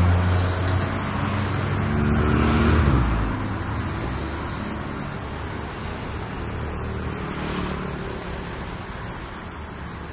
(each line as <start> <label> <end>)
0.0 motorcycles 10.1
0.0 traffic 10.1